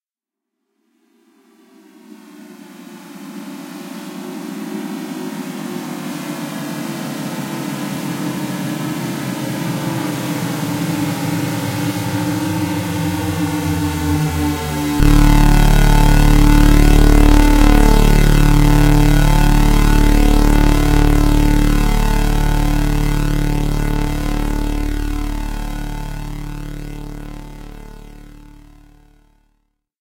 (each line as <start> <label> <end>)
10.1 bass-heavy sweep and chord 29.5